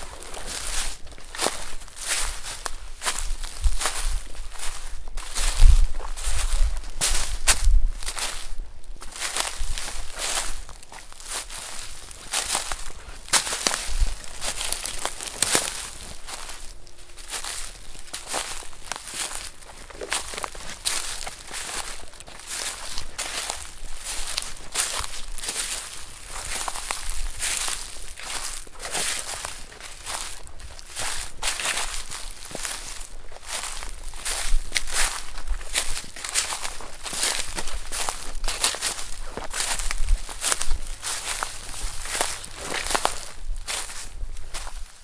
Walking on pine needles 0.0 - 45.0

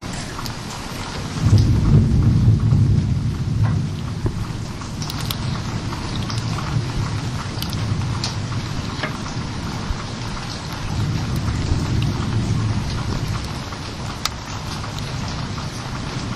rain 0.0 - 16.3
fire cracling 0.0 - 16.3
water drips 0.0 - 16.3
thunder 1.0 - 16.3

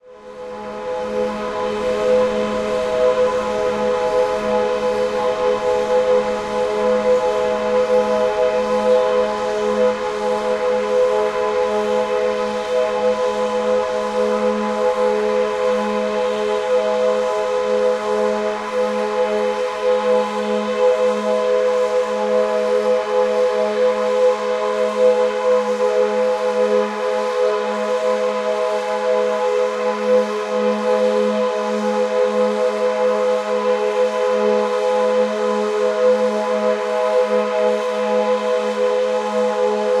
Atmospheric drone without much melodic variation 0.1 - 21.1

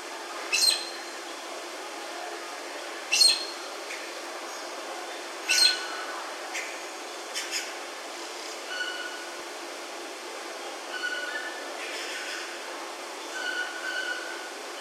High-pitched calls from a Black-necked Aracari 0.5 - 1.0
High-pitched calls from a Black-necked Aracari 3.1 - 3.6
High-pitched calls from a Black-necked Aracari 5.5 - 6.0
High-pitched calls from a Black-necked Aracari 8.7 - 9.3
High-pitched calls from a Black-necked Aracari 10.9 - 12.1
High-pitched calls from a Black-necked Aracari 13.3 - 14.5

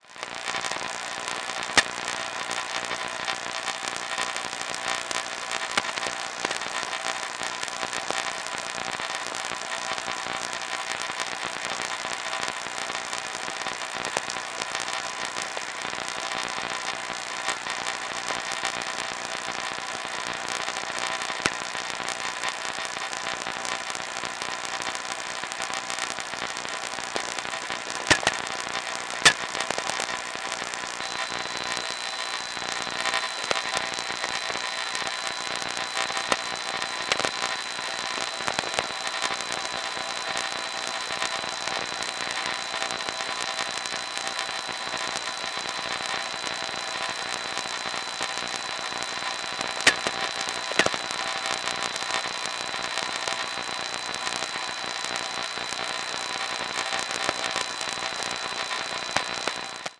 audible signal in VLF band 0.2 - 59.9

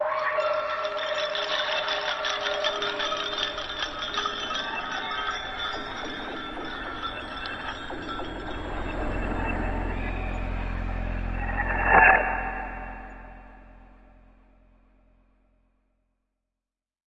Bells 0.0 - 14.4
synths 0.0 - 15.0
Tweaked percussion 0.1 - 13.8

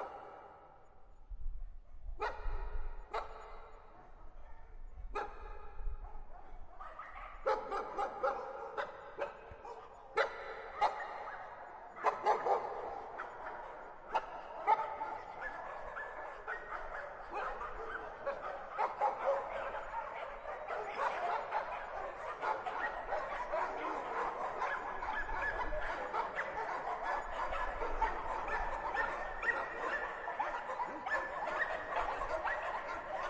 barking 6.8 - 33.2

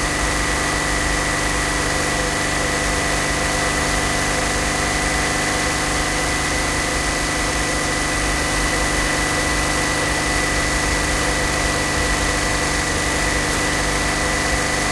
An old motorbike, start, riding on asphalt 0.0 - 14.9

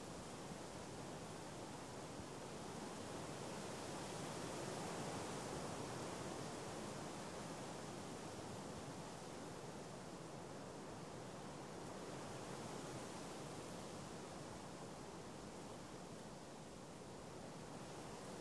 wind through trees 0.0 - 18.4

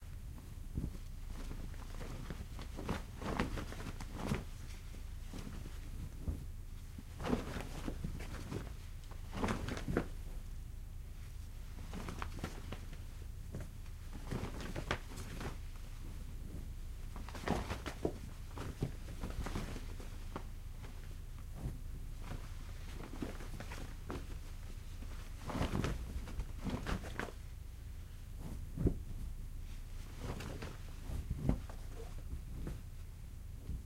Cloth flapping on a clothesline gently 0.0 - 33.8

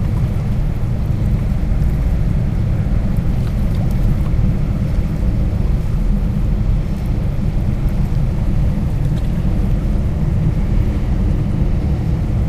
ship 0.0 - 12.4
water 0.0 - 12.4

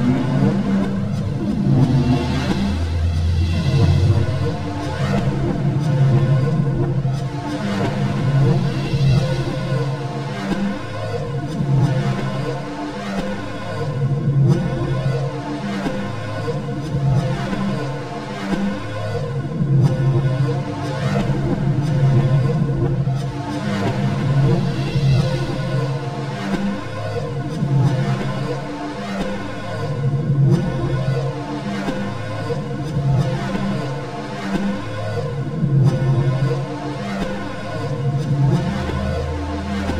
train 0.0 - 39.9

